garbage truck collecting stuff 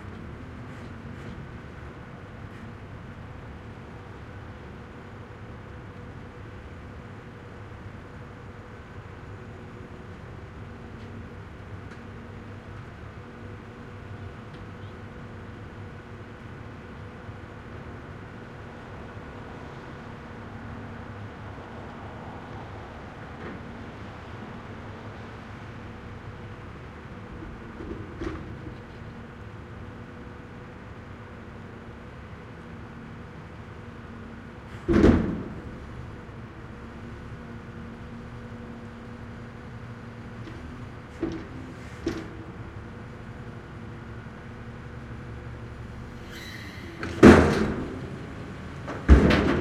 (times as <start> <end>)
46.2 49.6